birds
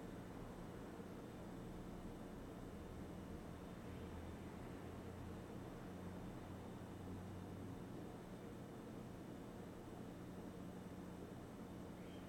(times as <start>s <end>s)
11.7s 12.2s